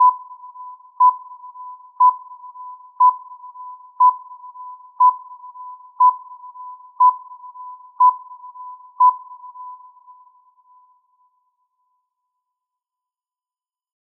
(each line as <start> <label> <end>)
0.0 beep 10.9